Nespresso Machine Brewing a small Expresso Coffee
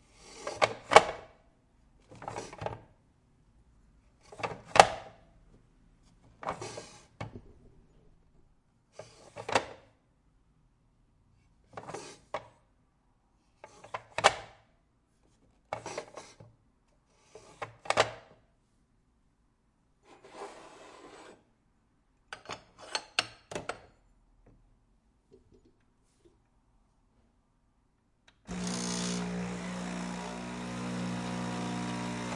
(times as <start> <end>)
28.5 32.3